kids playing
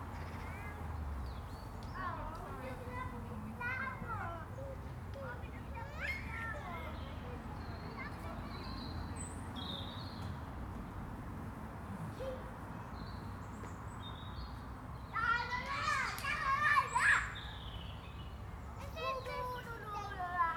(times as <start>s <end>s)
2.0s 8.8s, 15.1s 17.6s, 18.8s 20.5s